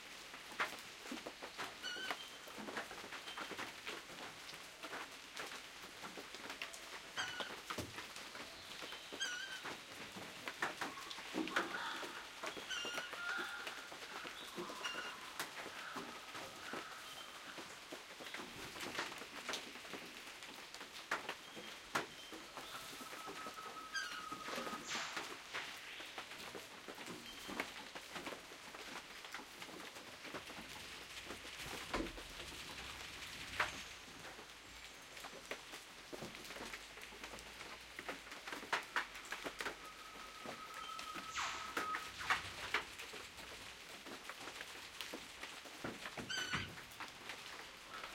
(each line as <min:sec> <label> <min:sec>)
0:00.0 Rain 0:48.1
0:06.7 birdsong 0:18.8
0:21.4 birdsong 0:26.4
0:39.2 birdsong 0:42.6